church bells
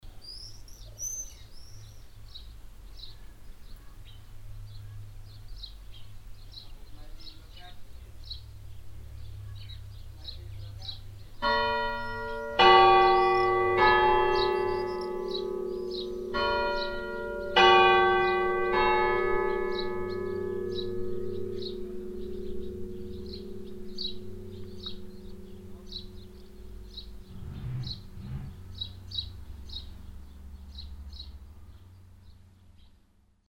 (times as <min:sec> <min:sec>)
0:09.3 0:27.3